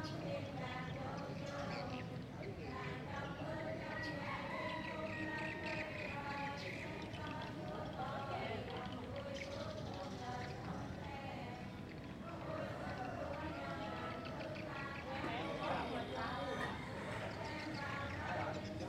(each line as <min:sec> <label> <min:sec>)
0:00.0 chanting 0:18.8
0:00.0 neighbors talking 0:18.8
0:08.2 swift farm 0:18.8
0:15.2 laughing 0:17.8